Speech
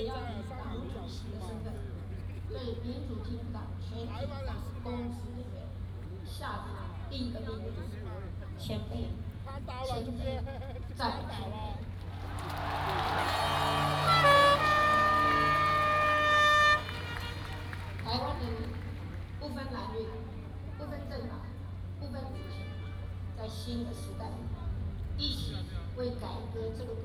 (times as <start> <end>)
0.0 11.9, 17.9 22.7, 23.3 27.0